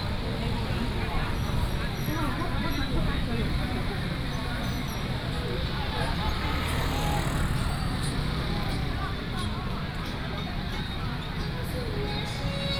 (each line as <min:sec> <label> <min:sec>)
0:00.0 Traffic sound 0:12.7
0:00.0 Walking through the market 0:12.7